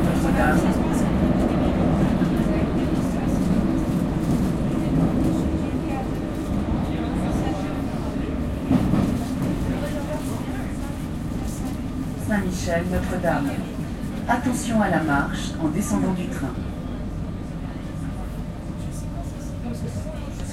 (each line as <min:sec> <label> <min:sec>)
0:00.0 RER train. arriving to st michel station 0:20.5
0:00.0 voices from passengers 0:20.5